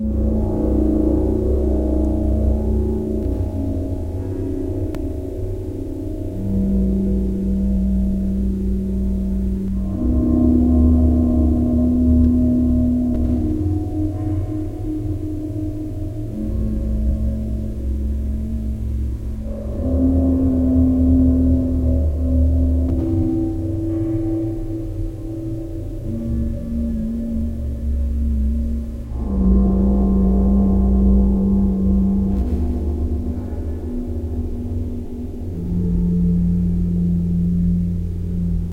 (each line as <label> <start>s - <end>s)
guitar 0.0s - 38.7s
piano armonics with echo and flanger effects 0.0s - 38.7s